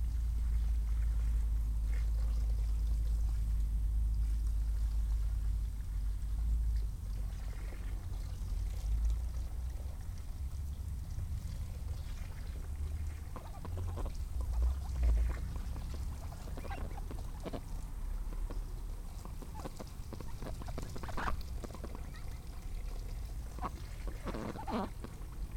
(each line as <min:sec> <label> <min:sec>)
0:07.2 cleaning their food bowl 0:25.5
0:11.4 ducks they flap and quack 0:25.5